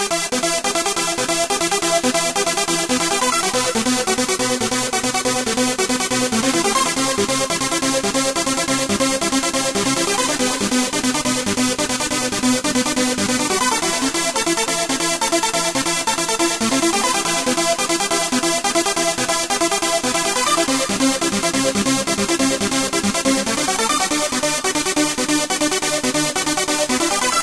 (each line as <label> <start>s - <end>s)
bass 0.0s - 27.4s